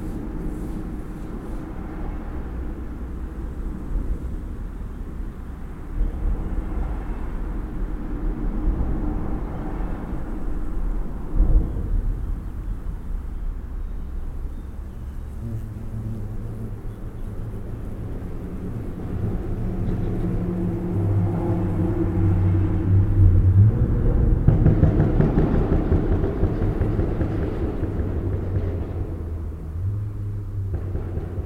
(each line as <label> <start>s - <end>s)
sons de la nature 0.0s - 24.6s
bruits rythmés du passage des véhicules 0.0s - 31.4s